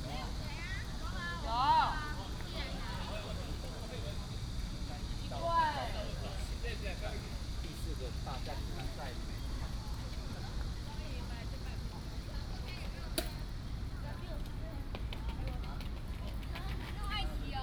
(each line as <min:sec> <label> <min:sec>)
0:00.0 Cicadas cry 0:14.1
0:00.0 Many tourists 0:17.6